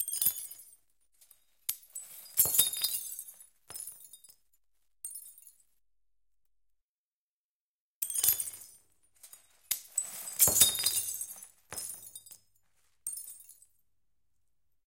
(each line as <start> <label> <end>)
0.0 Handling tiny glass shards 4.3
8.0 Handling tiny glass shards 12.4